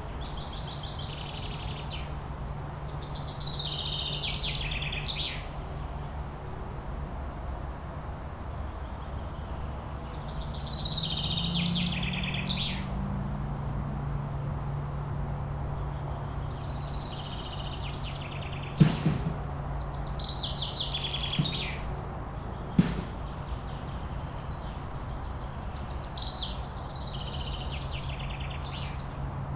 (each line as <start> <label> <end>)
0.0 motorway 29.5
16.1 singing birds 29.2
18.6 gardener 24.3